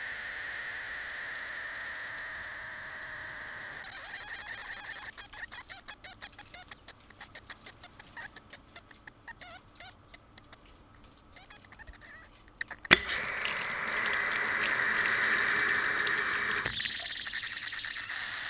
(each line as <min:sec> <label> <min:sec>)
0:12.9 Foot shower 0:17.1